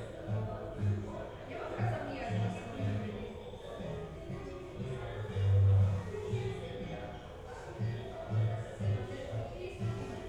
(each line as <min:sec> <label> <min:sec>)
0:00.0 music 0:10.2